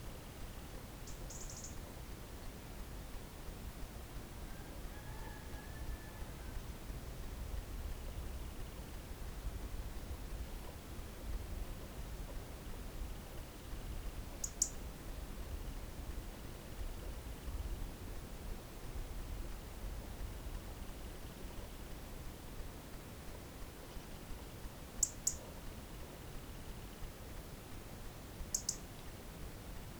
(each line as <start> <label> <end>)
1.1 Bird 1.8
14.4 Bird 14.8
25.0 Bird 25.4
28.5 Bird 28.8